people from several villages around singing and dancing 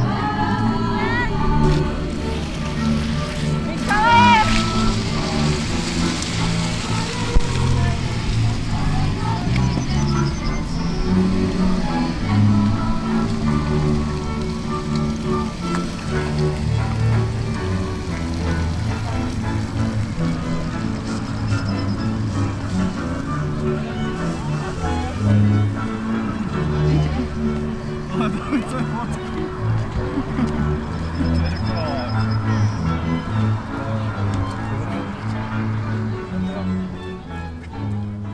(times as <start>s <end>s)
0.0s 5.0s